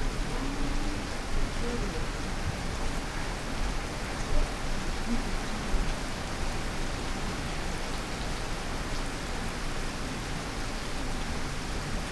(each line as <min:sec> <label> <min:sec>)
0:00.0 rain 0:12.1